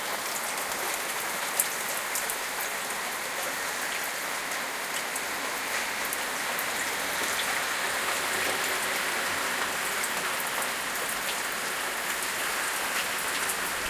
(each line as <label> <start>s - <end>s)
heavy rain 0.0s - 13.8s